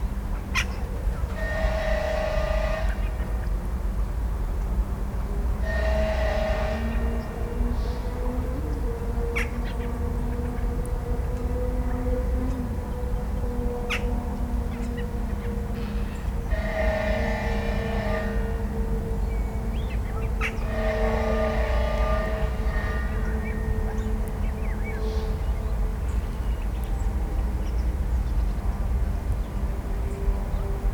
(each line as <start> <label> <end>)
0.0 distant traffic 30.9